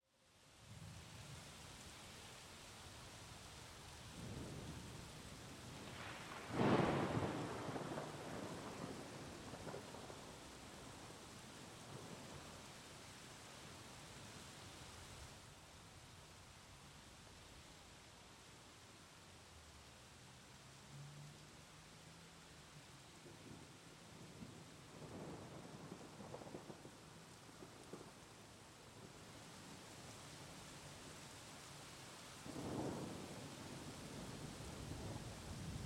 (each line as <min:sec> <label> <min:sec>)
0:00.0 rain 0:35.8
0:04.1 storm 0:12.6
0:23.2 storm 0:31.2
0:32.4 storm 0:35.8